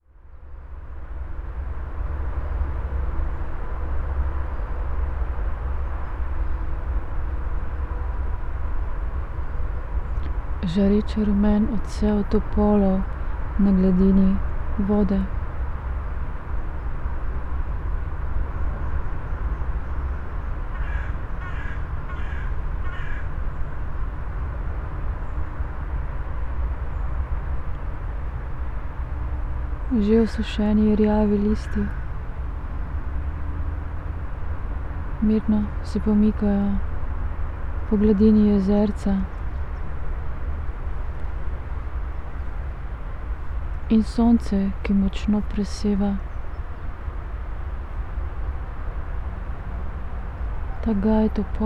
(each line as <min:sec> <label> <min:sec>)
0:10.6 words 0:15.3
0:20.7 crows 0:23.4
0:29.9 words 0:32.0
0:35.2 words 0:36.8
0:37.9 words 0:39.3
0:43.9 words 0:46.2
0:50.8 words 0:51.6